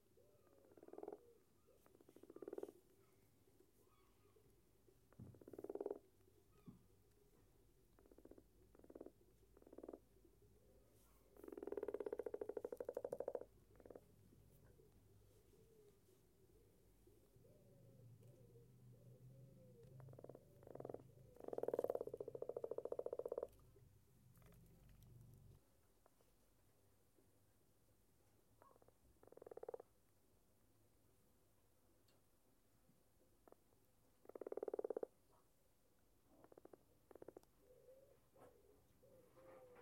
Frog Croaking 0.5 - 1.3
Frog Croaking 2.0 - 2.8
Frog Croaking 5.4 - 6.1
Frog Croaking 8.0 - 10.1
Frog Croaking 11.4 - 14.1
Frog Croaking 20.0 - 23.6
Frog Croaking 28.6 - 29.9
Frog Croaking 34.2 - 35.2
Frog Croaking 36.3 - 37.5

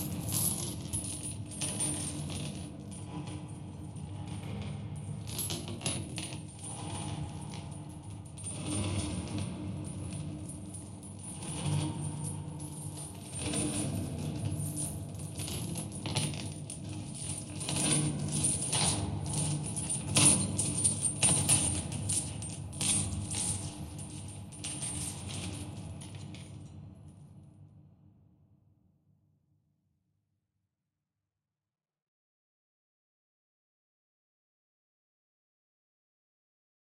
long chains 0.0 - 26.8

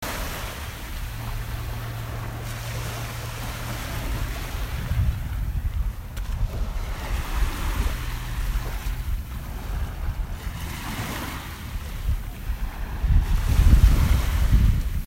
waves 0.0 - 15.0
gentle breeze 0.0 - 15.0

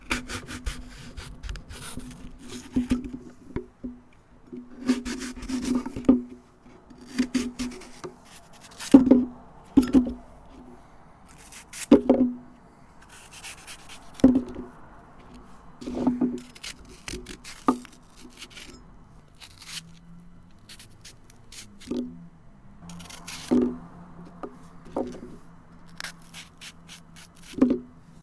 traffic sounds 0.0 - 28.2
cutting up a raw apple with an almost sharp knife 0.0 - 3.2
cutting up a raw apple with an almost sharp knife 4.6 - 6.3
cutting up a raw apple with an almost sharp knife 6.9 - 10.2
cutting up a raw apple with an almost sharp knife 11.3 - 12.4
cutting up a raw apple with an almost sharp knife 13.0 - 14.6
cutting up a raw apple with an almost sharp knife 15.8 - 20.0
wrenching / tearing sound of the cellulose fibres separating 16.4 - 20.0
cutting up a raw apple with an almost sharp knife 20.6 - 22.2
cutting up a raw apple with an almost sharp knife 22.9 - 23.8
cutting up a raw apple with an almost sharp knife 24.4 - 27.9

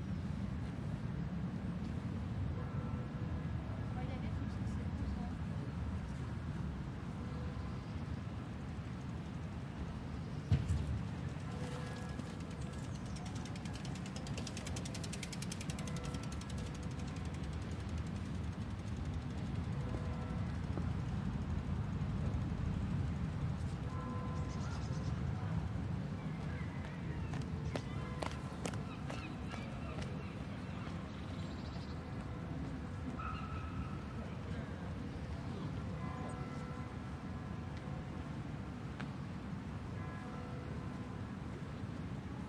people passing from the left to the right 0.0 - 42.4
wind 0.0 - 42.4
birds 28.0 - 32.1

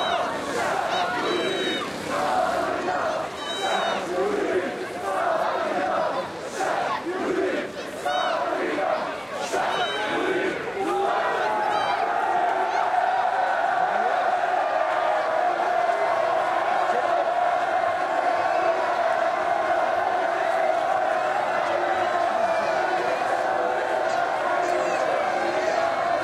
protest 0.0 - 26.2

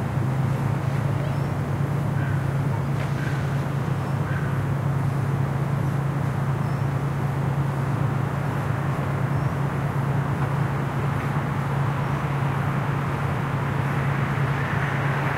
cars 0.0 - 15.3
motorbikes 0.0 - 15.3
subtle squeaking of a swing 1.0 - 4.5
crows 2.1 - 3.6
crows 4.2 - 4.7

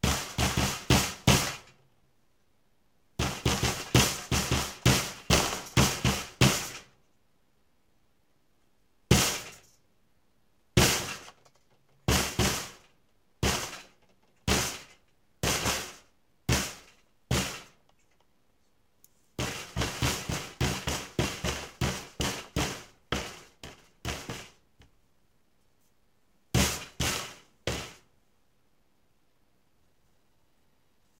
banging on a plastic bucket 3.2 - 6.8
banging on a plastic bucket 19.4 - 24.6

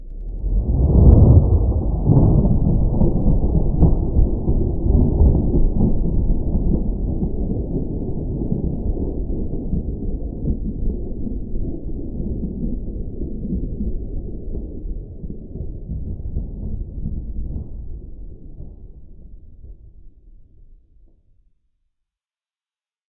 Thunder 0.1 - 20.6
Rain 0.1 - 19.3

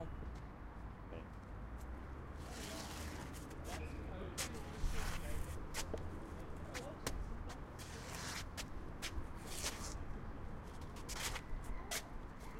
group of people shuffling 2.4 - 12.5

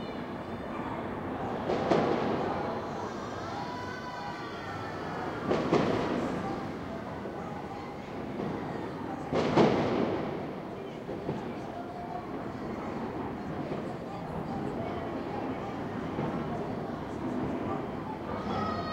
fireworks display 1.7 - 2.4
fireworks display 5.4 - 6.8
fireworks display 9.2 - 10.5

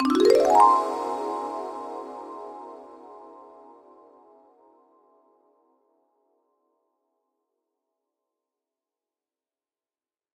marimba 0.0 - 2.8

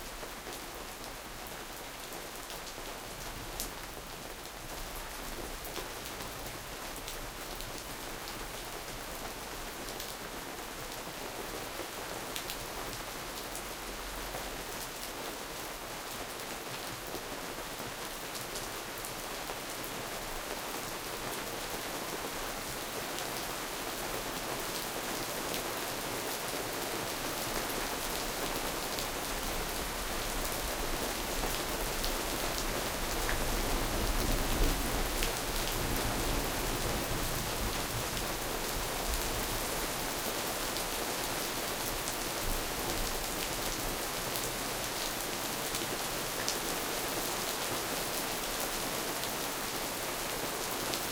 rain 0.0 - 51.1

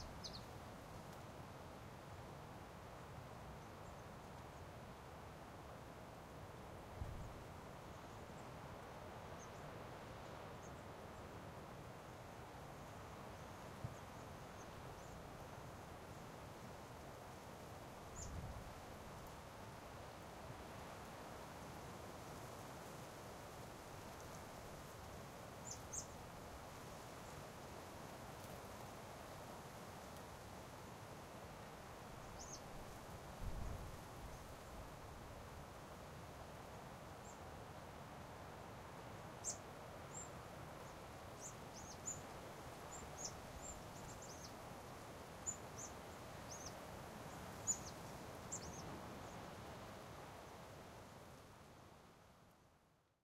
Small birds 0.0 - 0.6
rustling leaves 0.0 - 52.8
constant breeze 0.0 - 53.2
Small birds 18.0 - 19.3
Small birds 25.6 - 26.3
Small birds 32.2 - 34.8
Small birds 37.2 - 37.5
Small birds 39.4 - 49.5

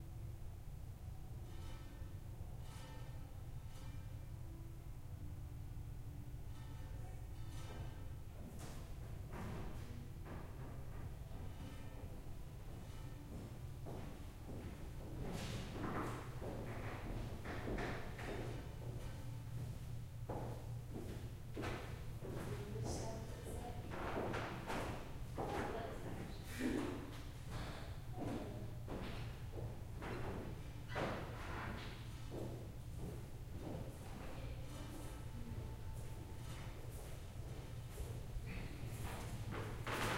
people walking through the gallery, across wooden floors 0.0 - 40.1
quiet conversation 22.2 - 29.1

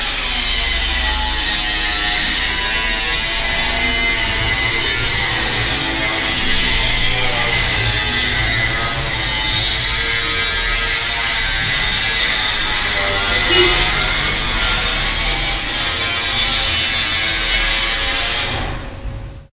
maschine from a construction 11.1 - 15.8

